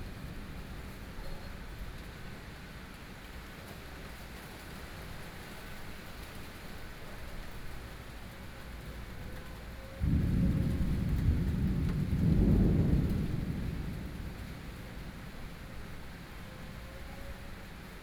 Thunderstorm 10.0 - 18.0

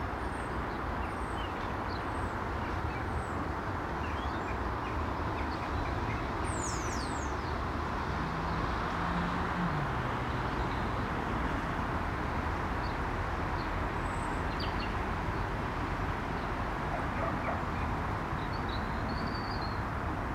Treetop starlings call 4.0 - 7.5

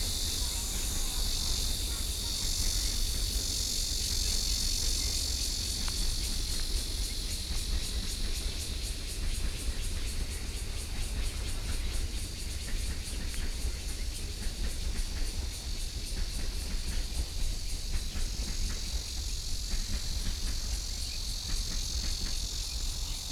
Cicadas 0.0 - 23.3
Trains traveling through 0.0 - 23.3

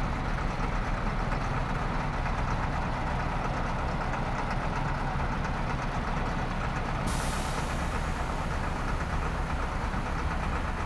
bus idling and departing 0.0 - 10.8
trucks passing on the bridge above 0.0 - 10.8

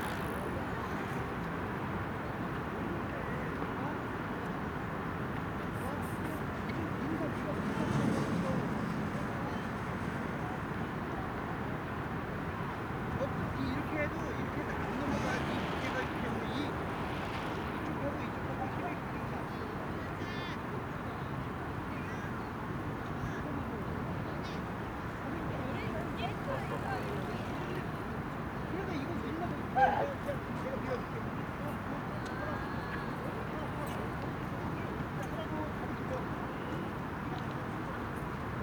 Riding Bicycle 0.0 - 1.2
Han river 0.0 - 38.6
People talking 13.2 - 16.9
People talking 23.0 - 38.1

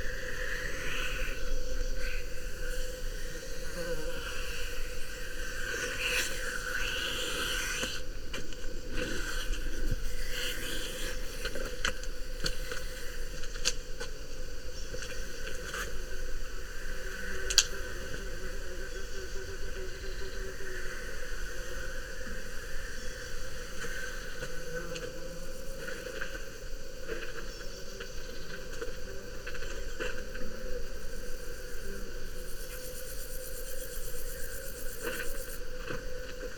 cicadas 0.0 - 36.5
wind 0.0 - 36.5

